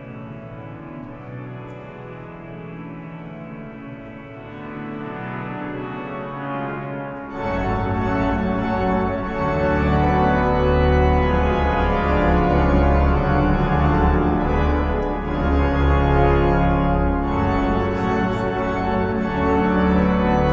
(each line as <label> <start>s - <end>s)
Organ test 0.0s - 20.5s